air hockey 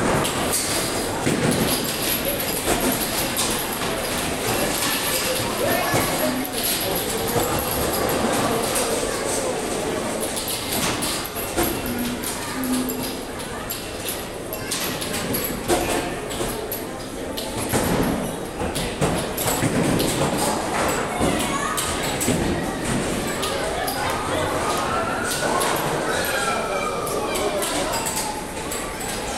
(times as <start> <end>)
0.0 8.8